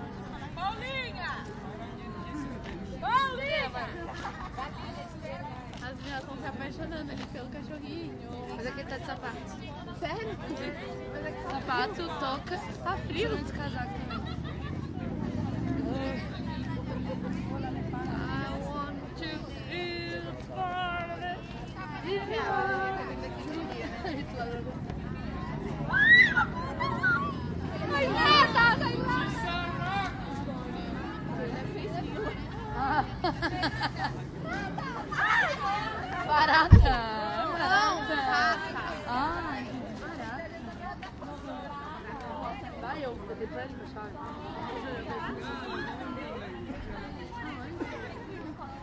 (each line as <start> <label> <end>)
0.0 tourists chat 48.8